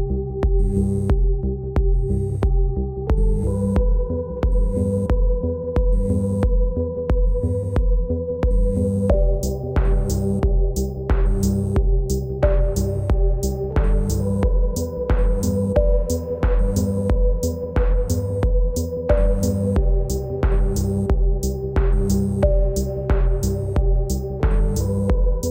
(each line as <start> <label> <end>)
0.0 drone 25.5
0.0 synth 25.5